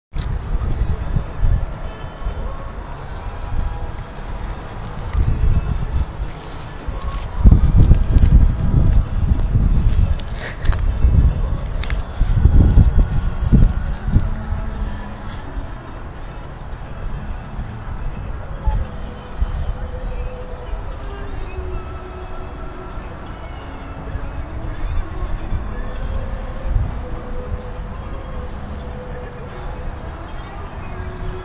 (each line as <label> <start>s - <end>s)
street sounds 0.1s - 31.4s
ice skater music 0.2s - 31.4s